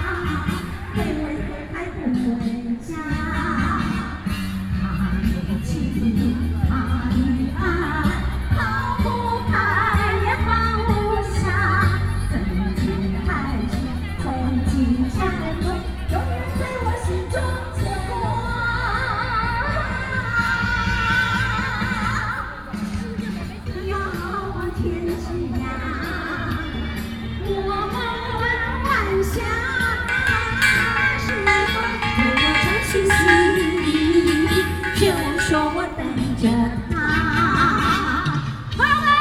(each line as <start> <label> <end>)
21.8 Walking around in the park 36.5